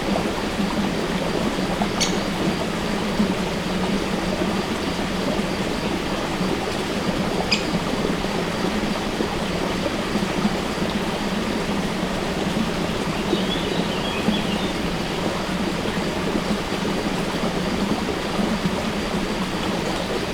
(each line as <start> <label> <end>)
0.0 Water from source of river Tolminka flowing in a stream 20.3
1.9 birds 2.4
7.4 birds 7.8
13.0 birds 14.9